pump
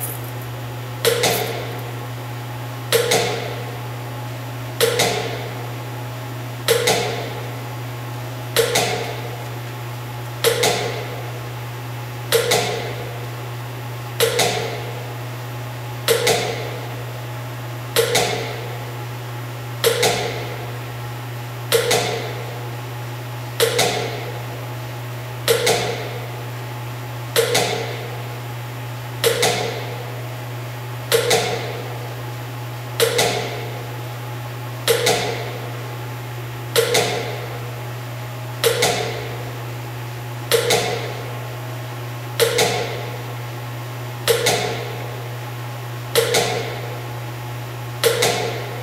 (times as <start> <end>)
29.2 30.1, 36.8 37.7, 38.6 39.5, 40.5 41.4, 42.3 43.2, 44.2 45.2, 46.1 47.0, 48.0 48.8